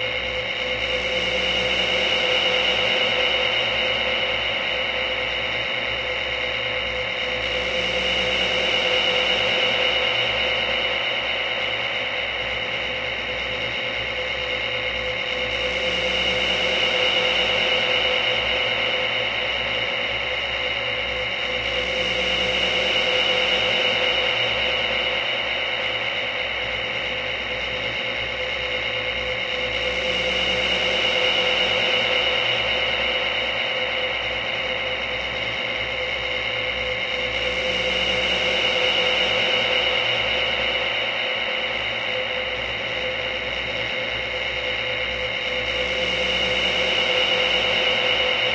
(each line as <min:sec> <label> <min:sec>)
0:00.0 drone 0:48.5